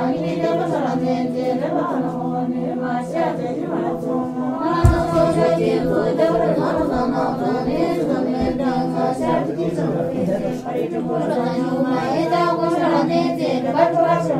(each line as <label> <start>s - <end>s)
Tibetan buddhist chanting 0.0s - 14.3s